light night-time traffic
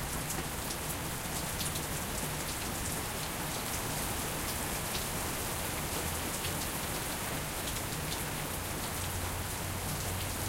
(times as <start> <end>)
3.7 10.4